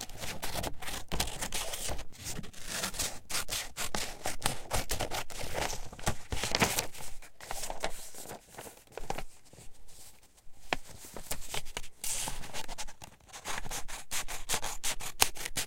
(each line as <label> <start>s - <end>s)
Cutting paper 0.2s - 5.5s
Cutting paper 13.3s - 15.6s